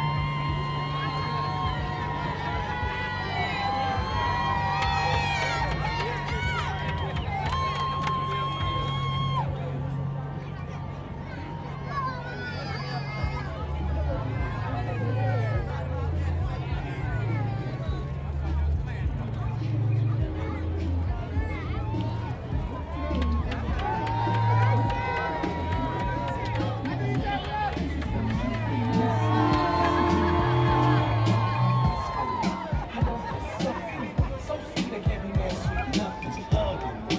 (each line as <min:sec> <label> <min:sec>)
0:00.0 yelling spectators 0:37.1
0:08.7 music and sounds from passing floats 0:37.1